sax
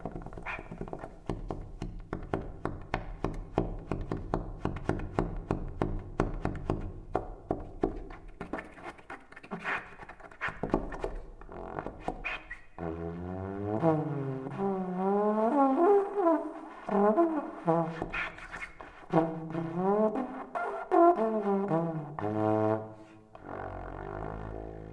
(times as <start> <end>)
8.4 24.9